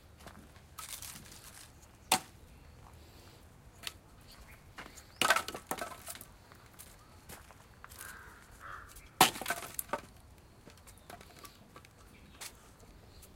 Stacking wood 5.2 - 6.2
Stacking wood 9.2 - 10.2

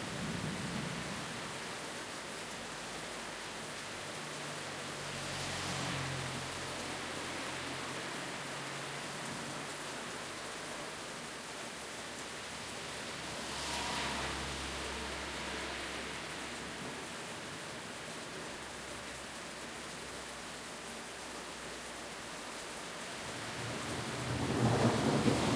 heavy rain 0.0 - 25.5
Thunderstorm 0.0 - 1.5
occasional cars passing by 0.1 - 25.5
Thunderstorm 12.9 - 17.2
Thunderstorm 23.5 - 25.5

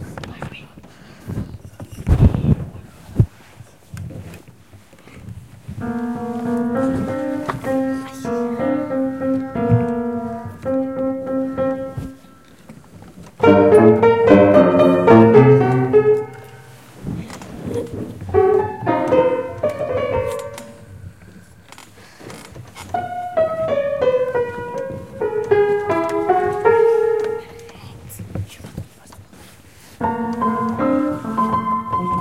plays the out of tune piano 5.6 - 21.7
plays the out of tune piano 22.8 - 28.1
plays the out of tune piano 29.8 - 32.2

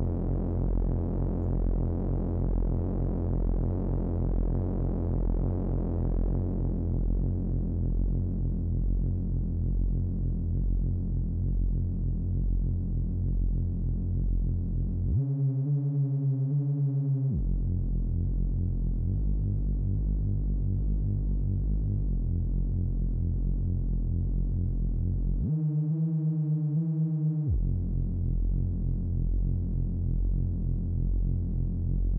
synth 25.4 - 28.2

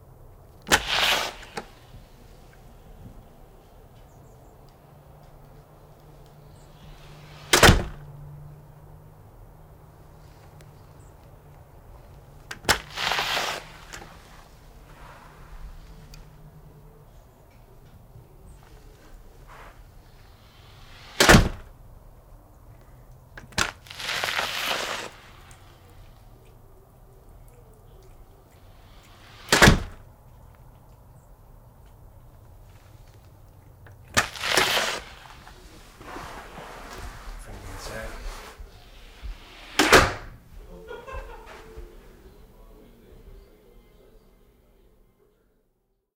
Modern Front Door open and close 0.6 - 1.9
slam 0.7 - 1.7
Modern Front Door open and close 6.6 - 8.2
slam 7.0 - 8.1
Modern Front Door open and close 12.5 - 14.6
slam 12.6 - 14.2
Modern Front Door open and close 20.3 - 21.8
slam 20.8 - 21.7
Modern Front Door open and close 29.0 - 30.0
slam 29.3 - 30.0
Modern Front Door open and close 38.3 - 40.5
slam 39.5 - 40.4

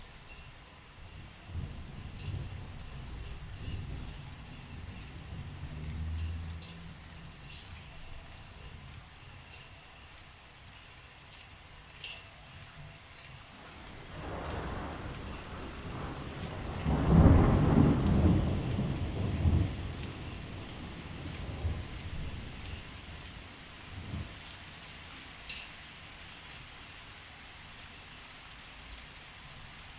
steady rainfall 0.0 - 29.9
distant rumbles of thunder 1.0 - 9.3
distant rumbles of thunder 13.4 - 25.6

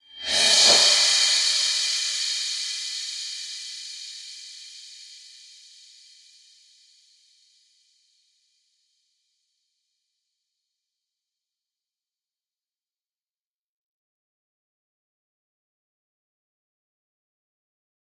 Reverse cymbals 0.0 - 6.7

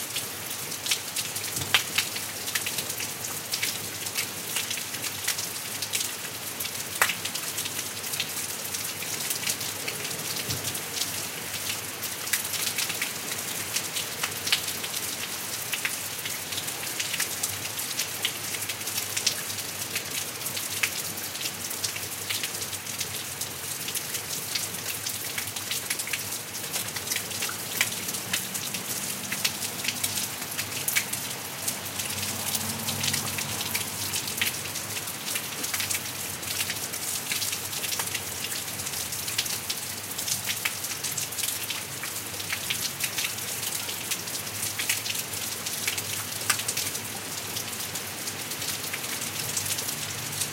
rain 0.0 - 50.5

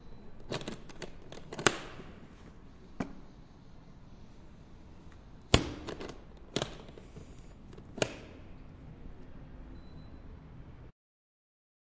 Opening and closing a suitcase 0.5 - 2.0

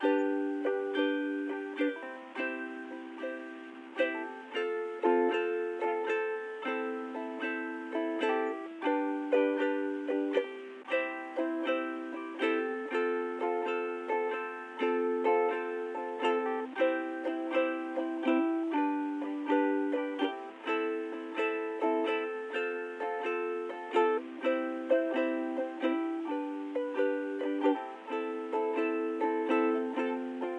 strumming on a ukulele 0.0 - 30.5

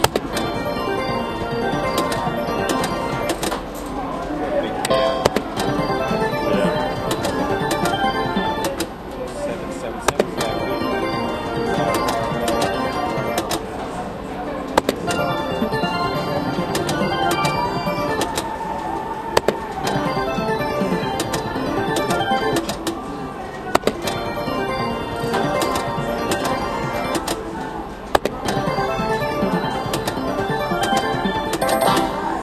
Slot machine noises 0.0 - 32.4
background music 0.0 - 32.4

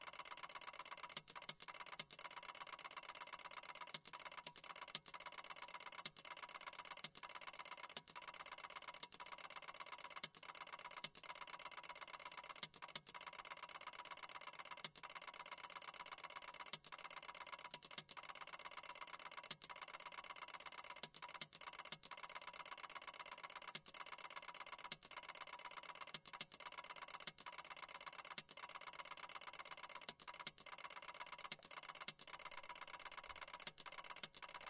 Ticker Tape Machine 0.0 - 34.6

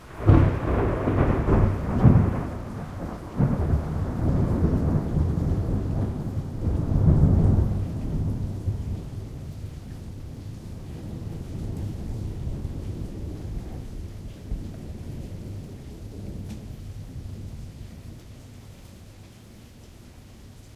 Loud thunder clap 0.1 - 17.9

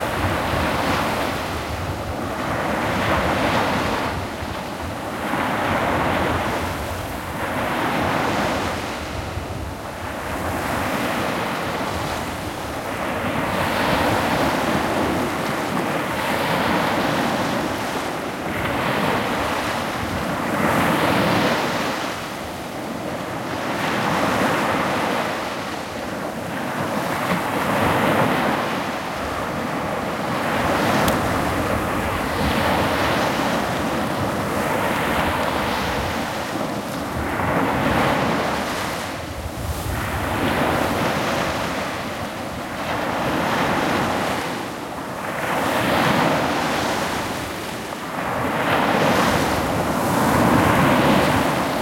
Waves 0.0 - 51.8

